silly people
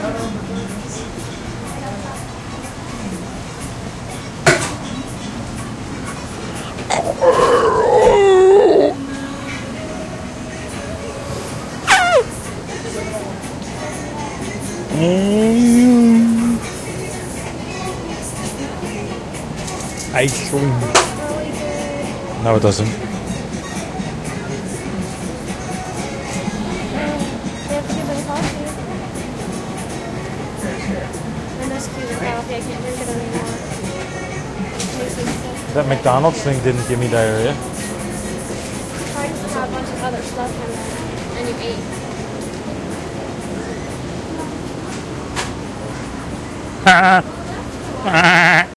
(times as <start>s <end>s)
14.9s 16.7s, 46.8s 47.4s